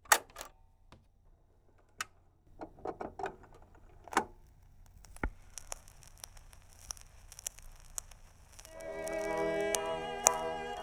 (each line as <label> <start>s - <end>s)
scratching 2.5s - 10.8s
turning on a record player 2.5s - 10.8s